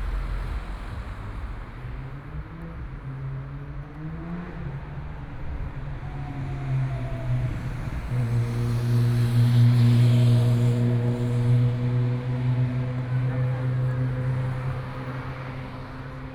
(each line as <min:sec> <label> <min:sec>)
0:00.0 Traffic Sound 0:16.3
0:00.0 Walking on the streets 0:16.3